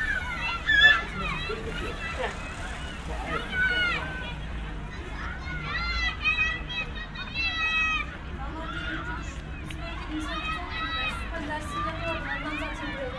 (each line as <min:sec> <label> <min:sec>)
0:00.0 distant crowded field 0:13.1
0:00.0 passers-by 0:13.1